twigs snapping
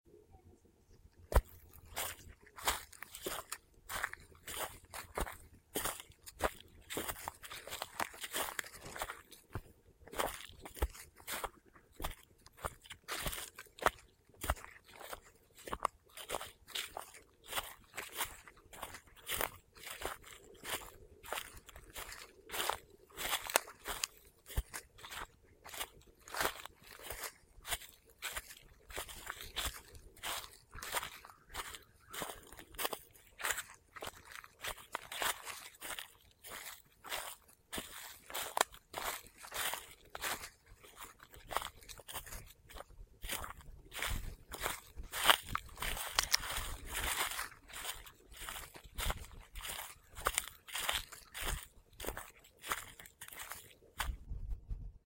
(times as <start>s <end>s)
45.8s 46.6s